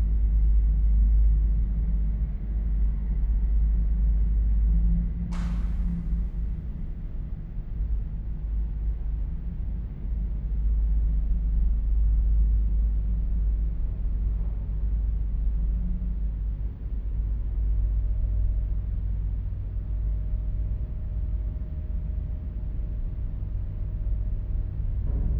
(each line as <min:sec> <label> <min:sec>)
0:05.3 door 0:07.0